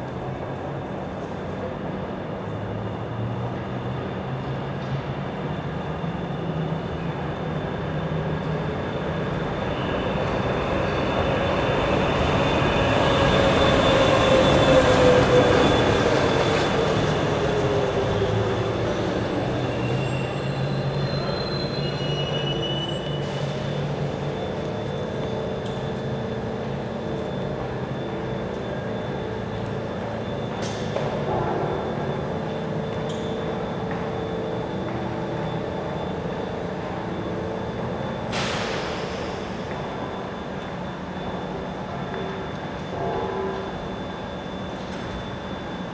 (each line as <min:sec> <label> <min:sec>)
0:00.0 Commuters transferring on and off and between busses 0:45.9
0:10.7 Elevator (with bell) 0:45.9